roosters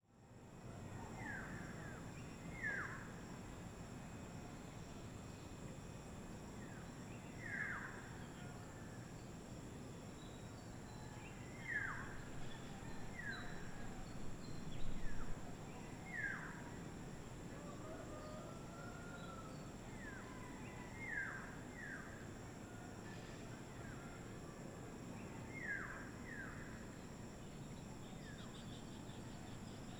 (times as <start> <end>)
17.6 19.8